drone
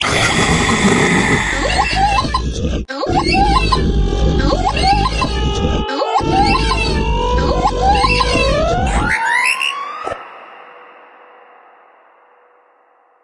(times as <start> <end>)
3.1 12.7